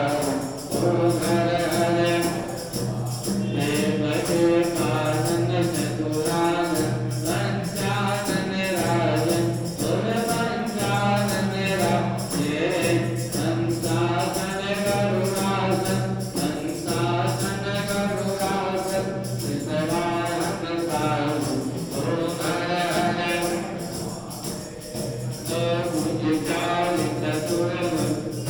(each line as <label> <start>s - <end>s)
religious ceremony music 0.0s - 28.4s